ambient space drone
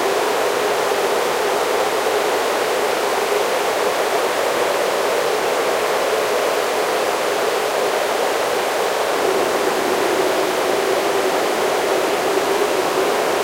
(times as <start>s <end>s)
8.9s 13.4s